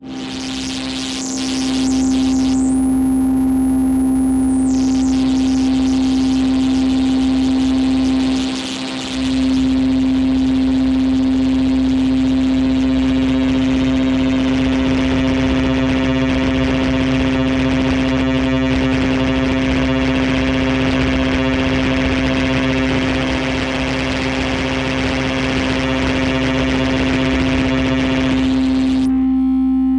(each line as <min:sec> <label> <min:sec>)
0:00.0 complex chaos in the upper frequencies 0:29.9
0:00.0 deep dark bassy drone 0:29.9